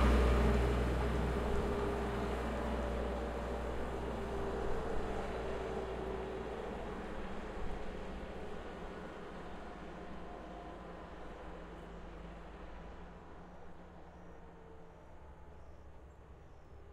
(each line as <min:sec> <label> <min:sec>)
0:00.0 cars 0:13.8
0:00.0 Heavy cargo trucks pass by left to right and right to left 0:15.3